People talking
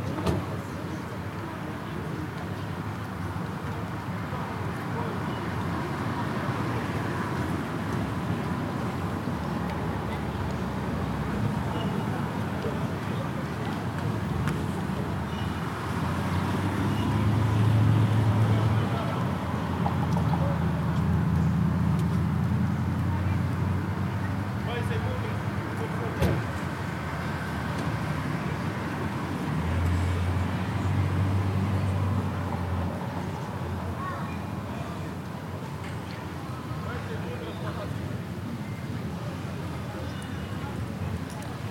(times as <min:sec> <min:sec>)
0:00.0 0:07.5, 0:16.2 0:21.5, 0:22.9 0:26.5, 0:33.0 0:41.7